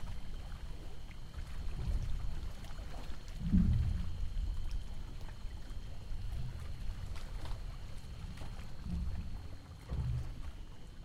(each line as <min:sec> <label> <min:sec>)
0:00.0 crickets 0:11.0
0:00.0 boat 0:11.0
0:00.0 waves 0:11.0